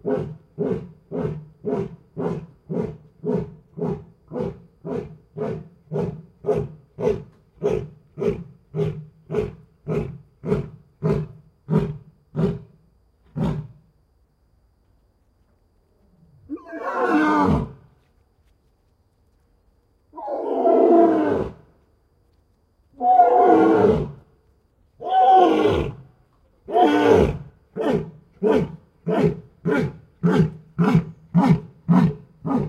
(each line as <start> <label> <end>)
26.7 Lion roaring and snorting 32.6